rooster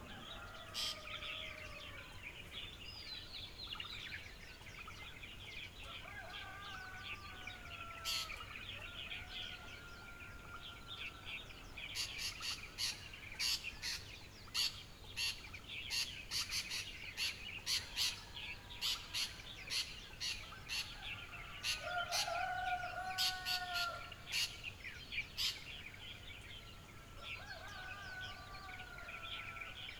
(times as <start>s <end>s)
0.0s 2.2s, 5.8s 11.3s, 20.7s 24.4s, 27.2s 29.9s